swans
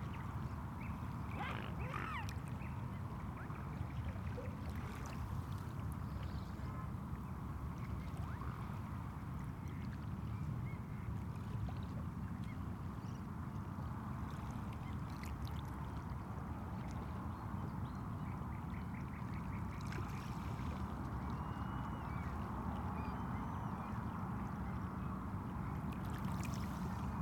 0.1 7.0, 18.6 27.2

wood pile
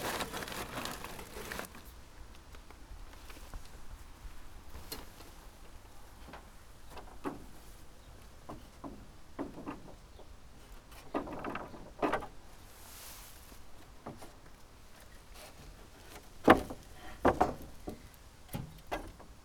0.0 1.8

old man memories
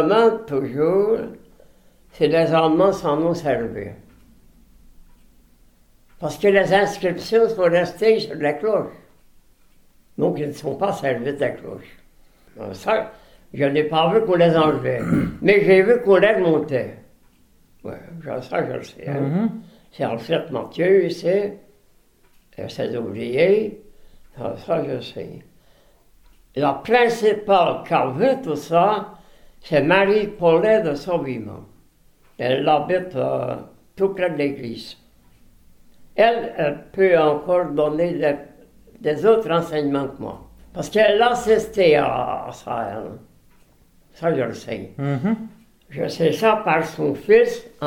0.0 1.4, 2.1 4.2, 6.0 9.1, 10.0 17.0, 36.1 43.2, 44.1 47.8

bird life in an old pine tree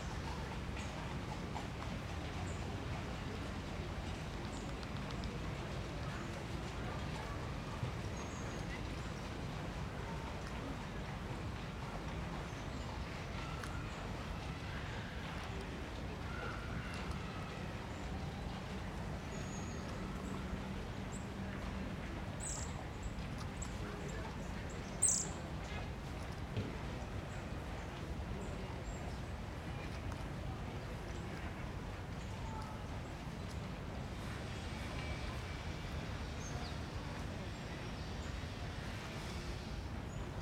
19.2 21.6, 22.4 25.9, 28.8 30.1, 34.4 40.4

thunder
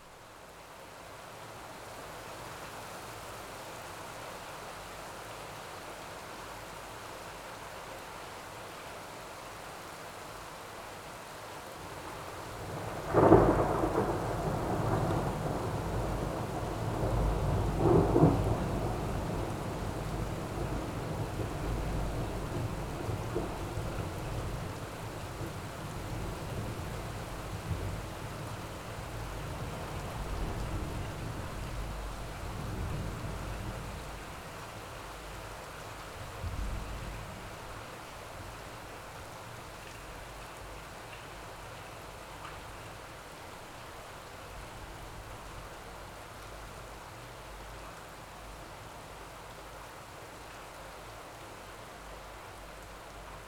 12.7 20.8

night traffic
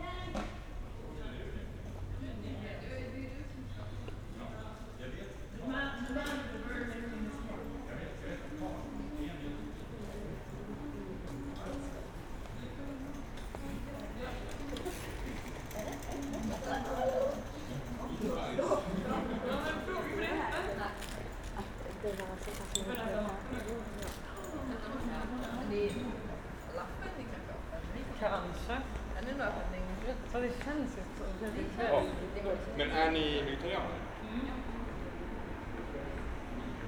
26.1 36.8

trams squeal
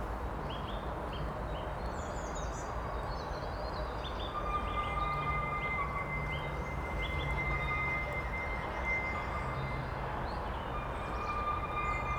4.5 12.1

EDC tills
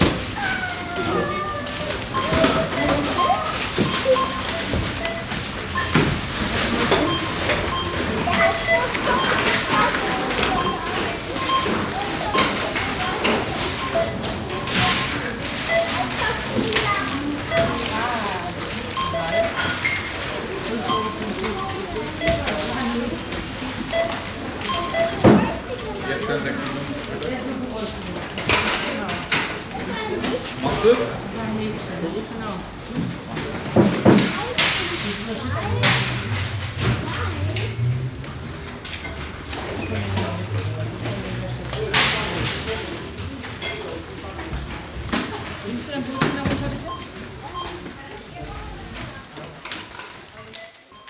1.8 25.3, 34.4 47.7

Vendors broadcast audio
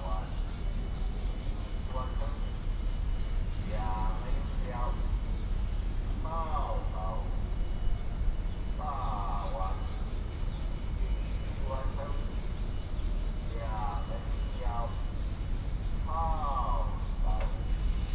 3.6 5.4, 6.2 7.8, 8.7 18.1

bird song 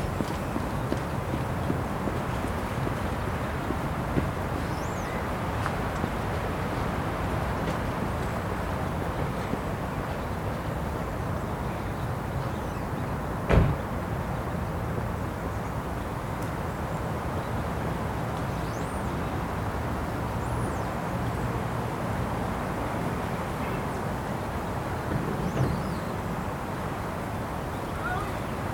4.6 5.4, 9.9 13.3, 18.4 19.5, 20.3 21.6, 25.4 26.3

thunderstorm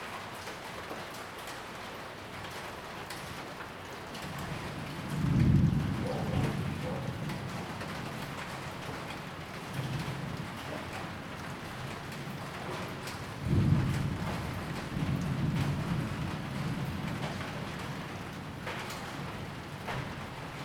4.2 20.6

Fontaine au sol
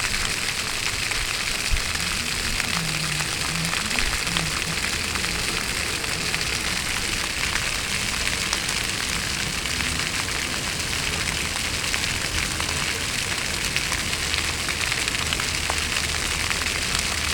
0.0 10.7

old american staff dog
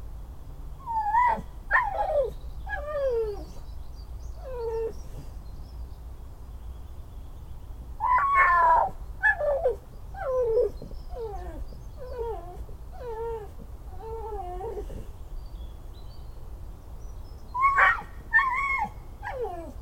8.0 15.2

